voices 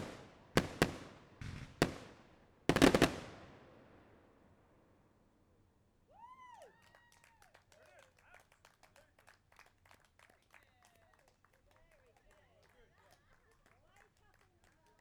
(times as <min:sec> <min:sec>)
0:10.5 0:15.0